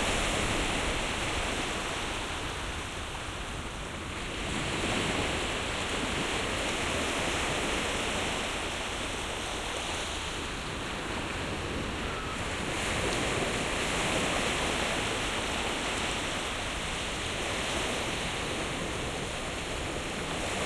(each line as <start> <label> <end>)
0.0 Waves 20.6